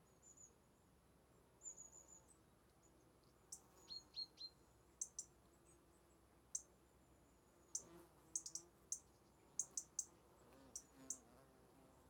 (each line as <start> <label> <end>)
7.6 Birds 11.3